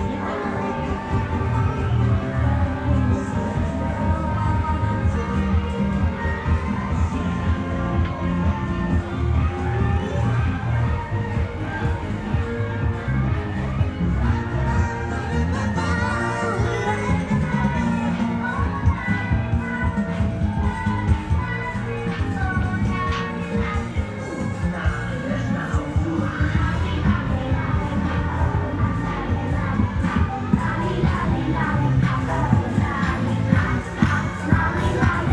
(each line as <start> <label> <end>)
0.0 Traditional temple festival parade 35.3